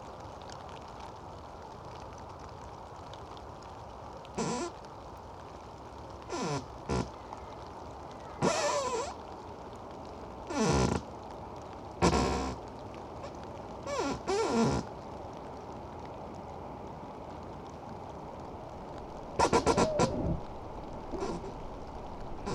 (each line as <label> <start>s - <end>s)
singing tree in a wind 17.8s - 22.5s